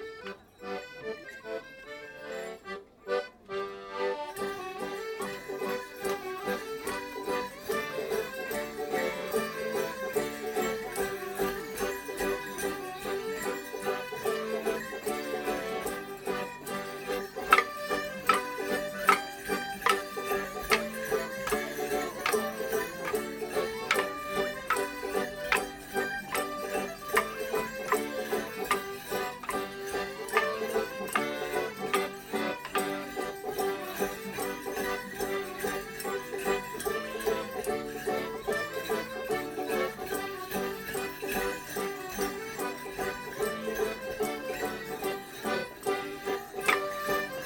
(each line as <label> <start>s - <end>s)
musicians 0.0s - 47.4s
trail of bells with their feet 0.2s - 47.4s
morris side who dance 10.9s - 36.6s